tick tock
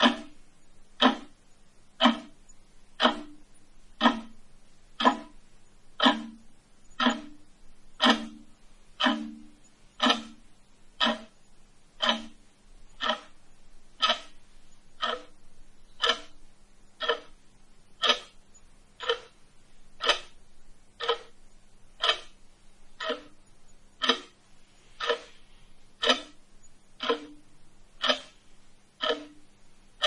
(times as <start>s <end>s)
0.0s 0.4s, 1.0s 1.3s, 2.0s 2.4s, 3.0s 3.4s, 4.0s 4.4s, 5.0s 5.4s, 6.0s 7.4s, 8.0s 10.4s, 11.0s 11.4s, 12.0s 12.4s, 13.0s 13.4s, 14.0s 14.4s, 15.0s 15.4s, 16.0s 16.4s, 17.0s 17.4s, 18.0s 18.4s, 19.0s 19.4s, 20.0s 20.4s, 21.0s 21.4s, 22.0s 22.4s, 23.0s 23.4s, 24.0s 24.4s, 25.0s 25.4s, 26.0s 26.4s, 27.0s 27.4s, 28.0s 28.4s, 29.0s 29.4s